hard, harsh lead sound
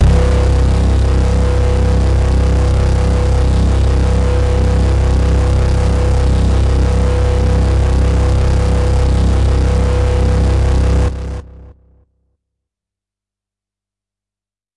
0.0s 11.8s

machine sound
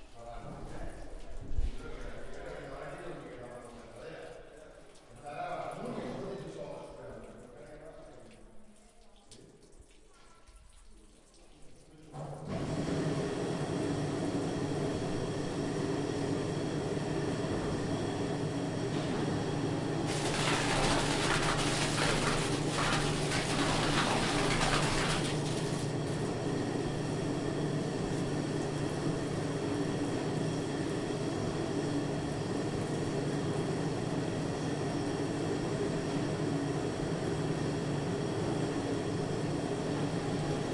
20.0s 26.5s

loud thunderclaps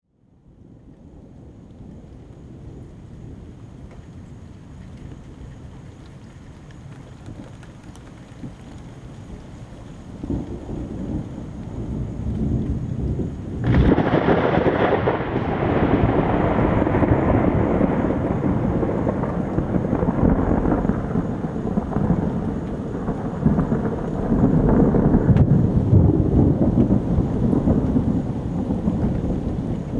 10.2s 29.9s

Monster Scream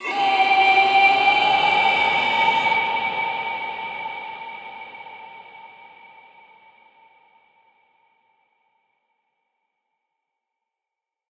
0.0s 2.9s

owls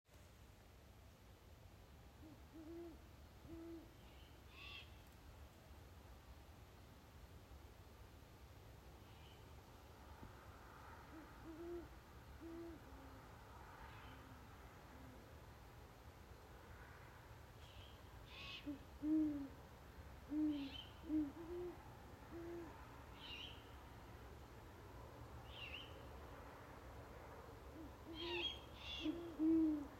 27.8s 29.9s

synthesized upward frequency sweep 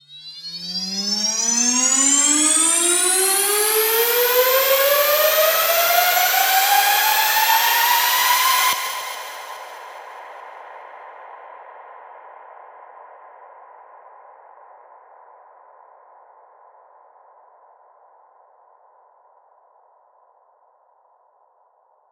0.0s 10.0s

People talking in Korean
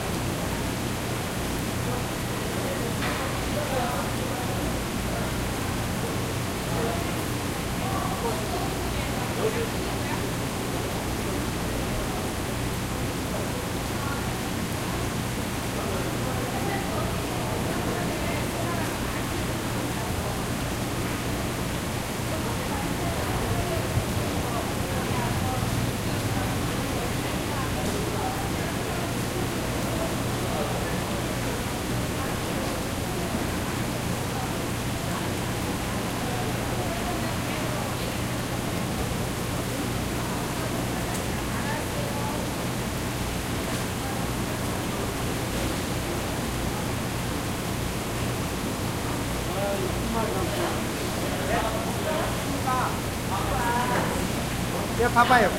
49.4s 55.5s

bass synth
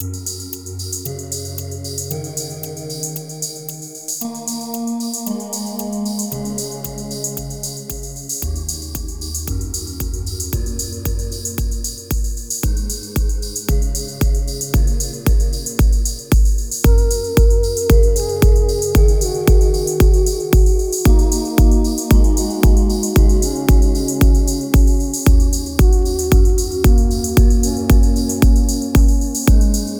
7.4s 29.9s

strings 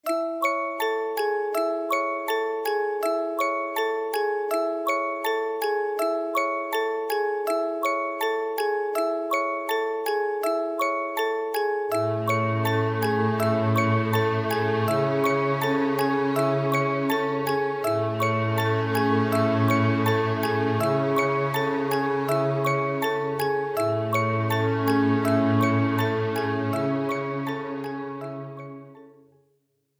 11.9s 29.1s

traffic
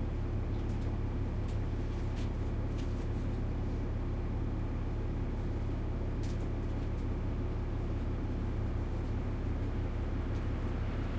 10.1s 11.1s

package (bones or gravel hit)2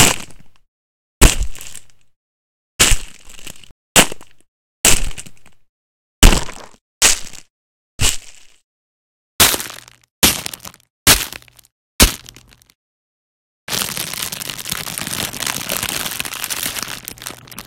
1.2s 1.8s, 2.8s 3.3s, 6.2s 8.3s, 9.4s 12.7s, 13.7s 17.6s

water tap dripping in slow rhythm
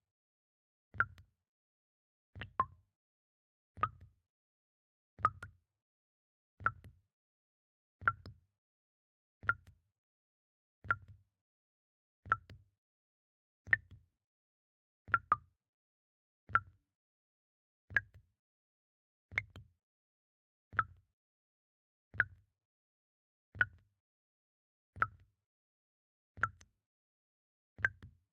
1.0s 1.2s, 2.4s 2.7s, 3.8s 4.1s, 5.2s 5.5s, 6.6s 6.9s, 12.3s 12.6s, 13.7s 14.0s, 15.1s 15.4s, 17.9s 18.2s, 26.4s 26.7s, 27.8s 28.1s

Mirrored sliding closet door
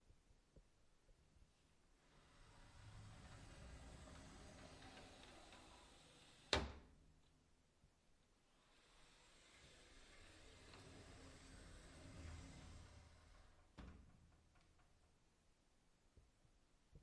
2.0s 7.1s, 8.4s 15.2s

